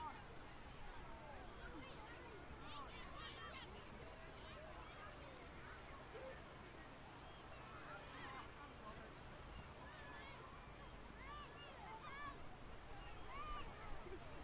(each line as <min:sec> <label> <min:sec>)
0:00.0 CHILDREN 0:08.7
0:00.0 waves 0:14.4